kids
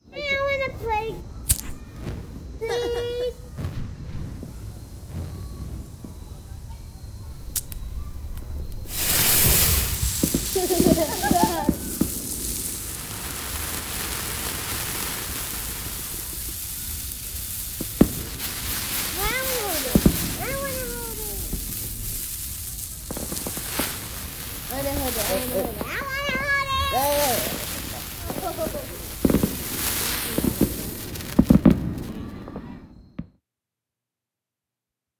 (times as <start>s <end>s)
5.8s 12.8s, 17.8s 32.9s